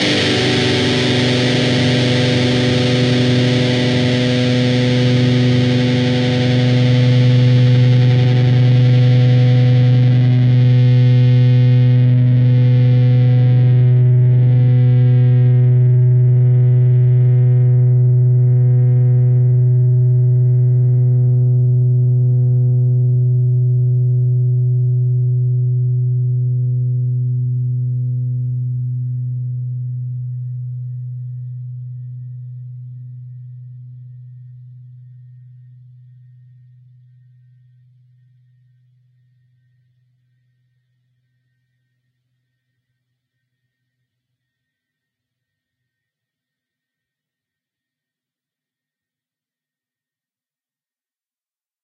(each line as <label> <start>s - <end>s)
distorted guitar 0.0s - 37.4s